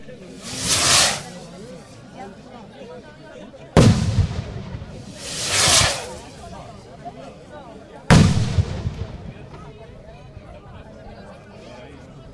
occasional fireworks 0:00.0 - 0:02.0
People talking 0:00.0 - 0:12.3
occasional fireworks 0:03.8 - 0:07.0
occasional fireworks 0:08.1 - 0:09.8

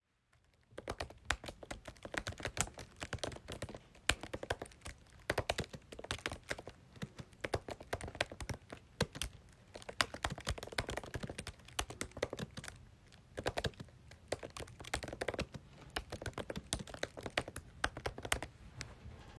Typing on a keyboard at a fast pace 0:00.4 - 0:18.5

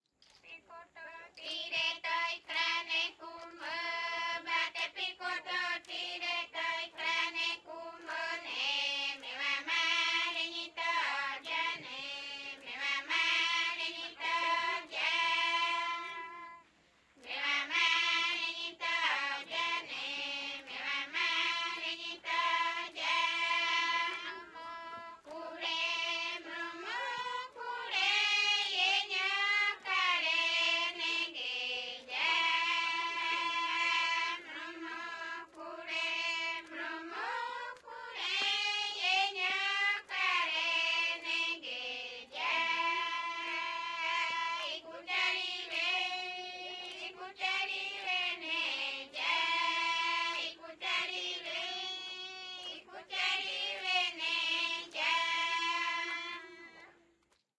female voices 0:00.3 - 0:02.2

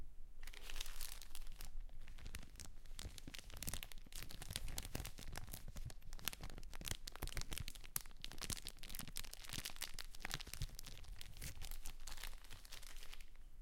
Rustling plastic 0:00.4 - 0:13.4

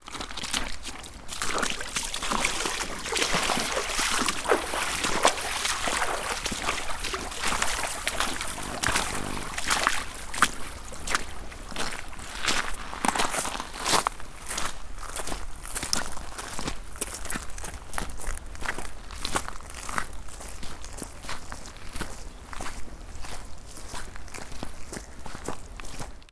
Walking Through Creek 0:00.0 - 0:11.7
Stream 0:00.8 - 0:09.8

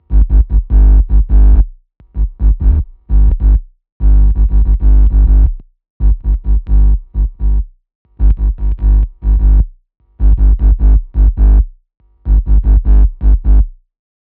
experimental touch bass 0:00.0 - 0:13.8

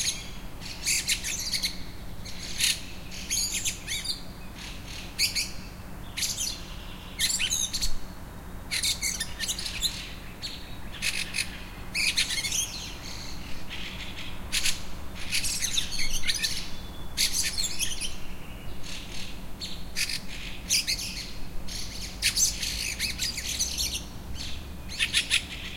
birdsong 0:00.0 - 0:25.7

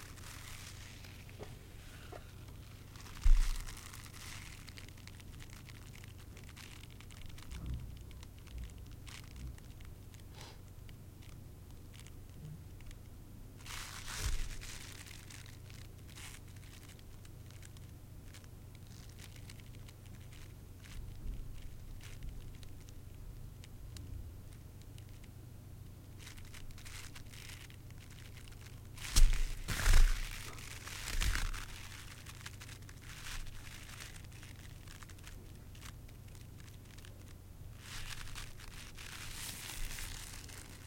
Snapping Rubber Gloves 0:26.2 - 0:36.0
Snapping Rubber Gloves 0:37.8 - 0:40.8

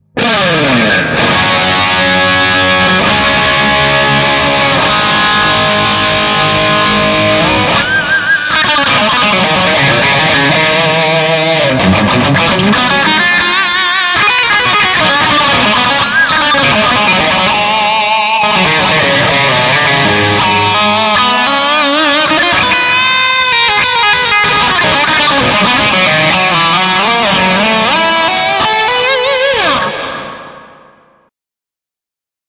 lead guitar player 0:00.0 - 0:31.3

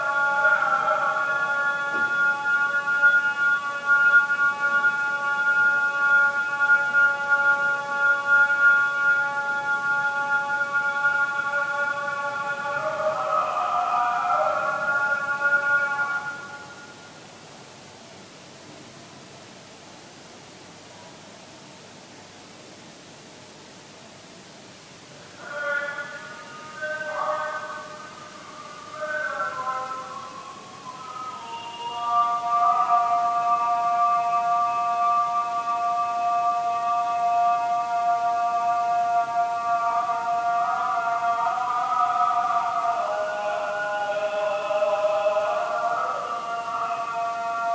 morning prayer 0:00.0 - 0:47.7

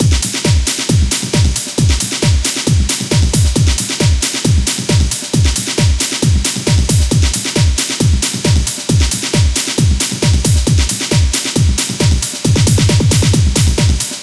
4/4 kick drum 0:00.0 - 0:14.2
chopped and re-arranged Amen drum loop 0:00.0 - 0:14.2
hi-hats 0:00.0 - 0:14.2

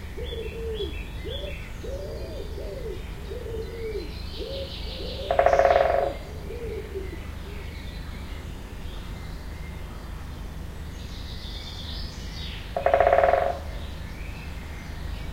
audible hiss 0:00.0 - 0:15.3
bird song 0:00.0 - 0:15.3
traffic 0:00.0 - 0:15.3
woodpecker pecking wood 0:12.8 - 0:13.6

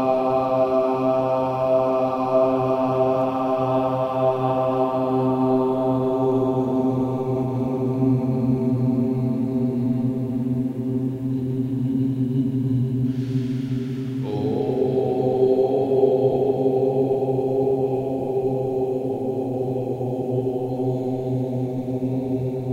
Aum mantra 0:00.0 - 0:22.7

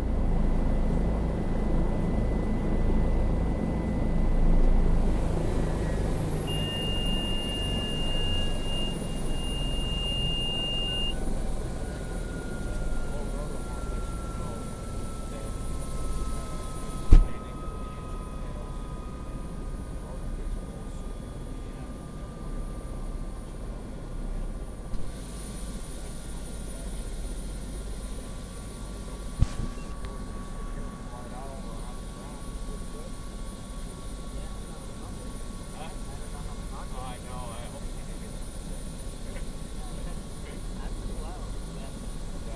helicopter landing 0:00.0 - 0:42.5
beep 0:06.5 - 0:11.2

